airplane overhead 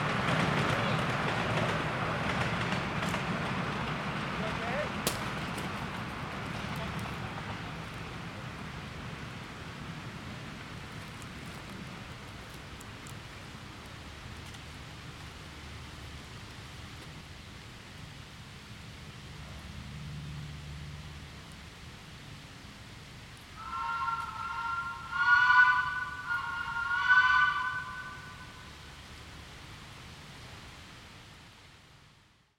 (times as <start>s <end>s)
23.4s 29.6s